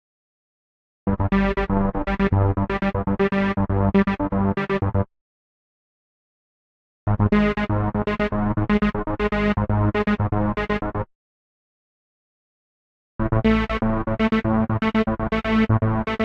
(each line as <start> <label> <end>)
1.1 bassline 5.1
7.1 bassline 11.1
13.2 bassline 16.2